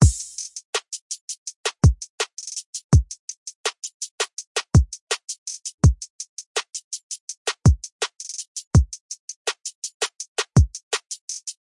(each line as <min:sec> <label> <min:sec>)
0:00.0 hi hat 0:11.6